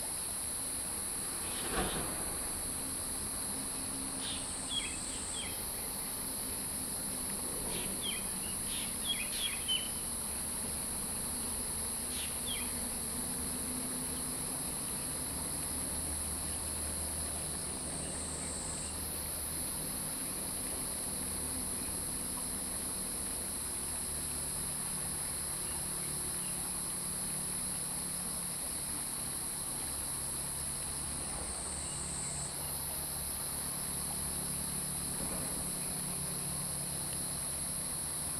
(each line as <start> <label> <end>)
0.0 Stream 38.3